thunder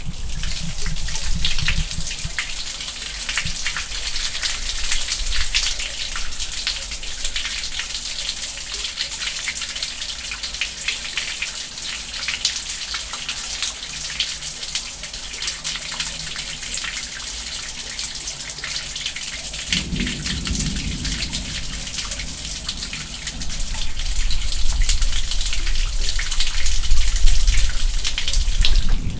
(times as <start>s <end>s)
0.0s 2.4s, 19.5s 29.1s